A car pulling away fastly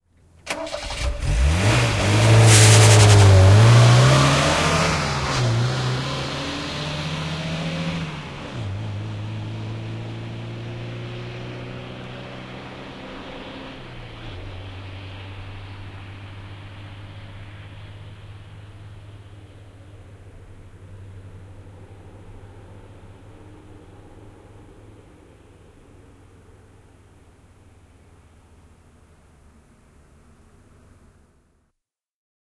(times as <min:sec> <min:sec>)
0:00.5 0:26.2